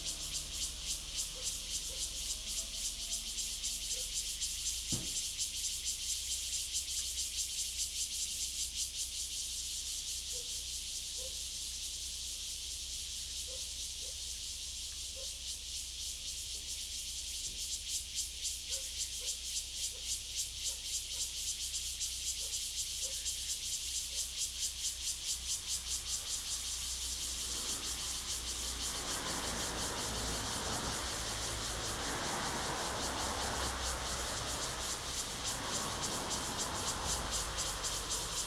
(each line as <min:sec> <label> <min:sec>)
0:00.0 Cicadas sound 0:38.4
0:25.4 Traffic Sound 0:38.4